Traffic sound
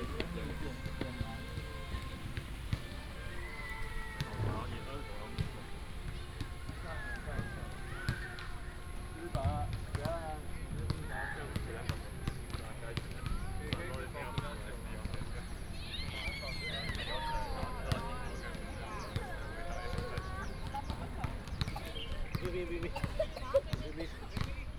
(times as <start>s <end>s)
0.0s 6.8s